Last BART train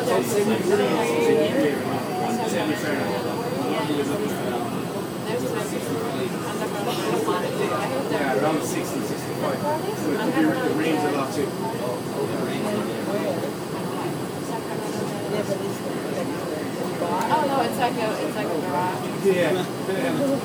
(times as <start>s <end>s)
0.0s 8.7s